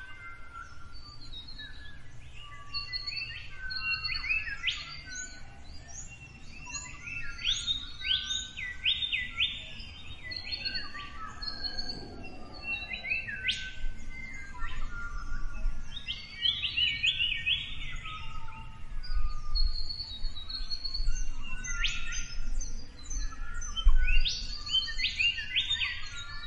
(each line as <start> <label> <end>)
0.0 Morning birds 26.4